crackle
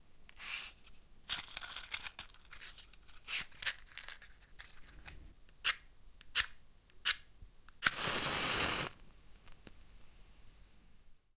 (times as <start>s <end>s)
7.8s 9.9s